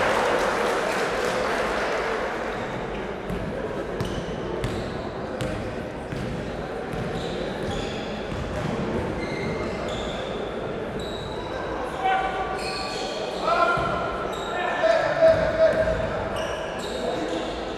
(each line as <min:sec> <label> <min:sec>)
0:03.2 basketball 0:10.1
0:13.7 basketball 0:14.1
0:15.2 basketball 0:16.6